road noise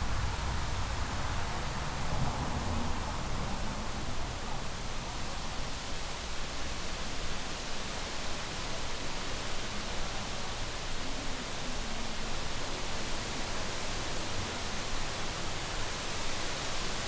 0.0 7.2

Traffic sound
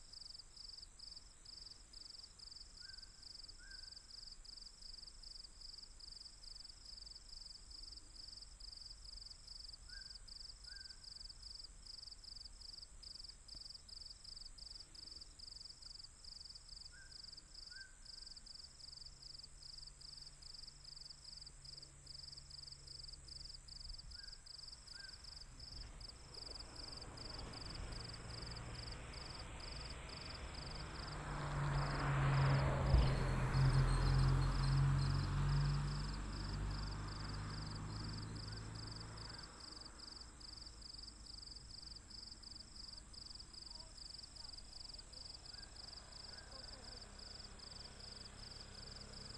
25.0 49.3

